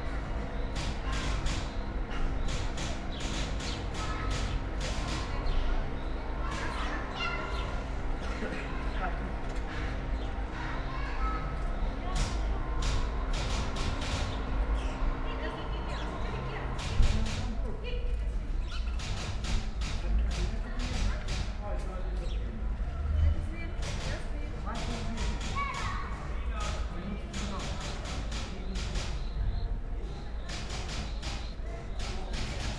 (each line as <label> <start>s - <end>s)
typewriter 0.7s - 1.8s
typewriter 2.4s - 5.6s
typewriter 12.2s - 14.4s
typewriter 16.8s - 17.6s
typewriter 19.0s - 21.6s
typewriter 23.8s - 26.0s
typewriter 26.6s - 29.4s
typewriter 30.4s - 32.7s